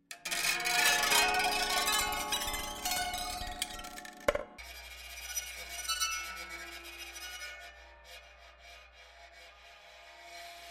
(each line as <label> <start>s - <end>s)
modified auto-harp with bowed effects 0.1s - 10.7s